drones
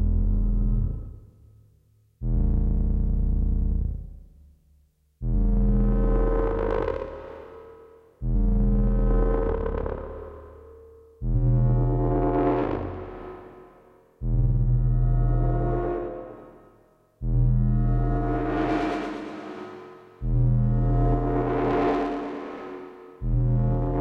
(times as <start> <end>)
17.2 24.0